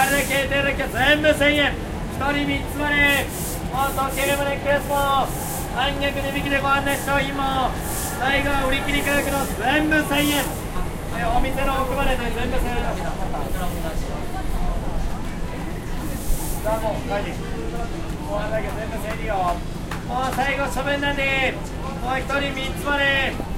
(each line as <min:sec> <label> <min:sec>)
0:00.0 Watch seller in japanese 0:15.2
0:00.0 people walking and talking 0:23.5
0:03.1 sweeper 0:10.9
0:15.8 Watch seller in japanese 0:23.5